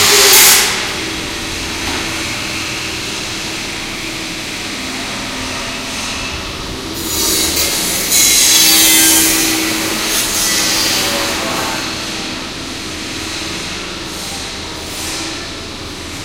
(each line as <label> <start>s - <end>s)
construction site 0.0s - 16.2s